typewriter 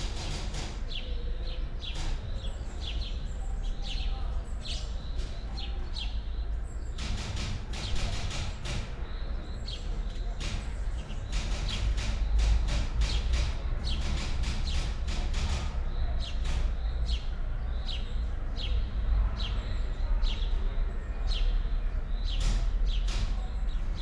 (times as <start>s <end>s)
0.0s 0.9s, 7.0s 9.0s, 10.4s 15.9s